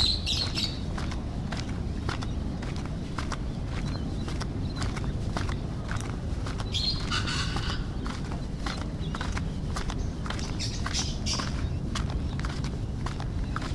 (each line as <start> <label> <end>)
0.0 birds 13.7